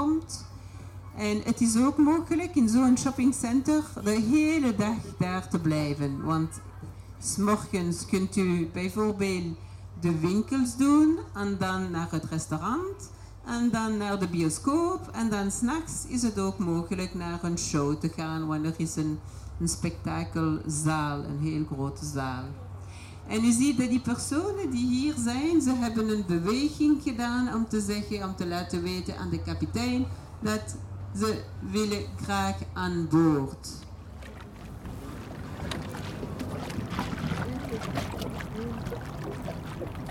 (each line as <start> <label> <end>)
0.0 Waterbus on the canal 40.1
34.8 guide talking 40.1